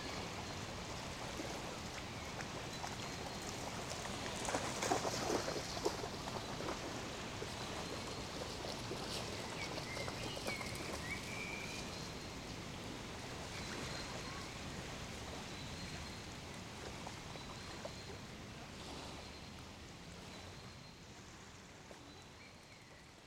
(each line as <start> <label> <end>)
1.1 dog plays in the water 12.0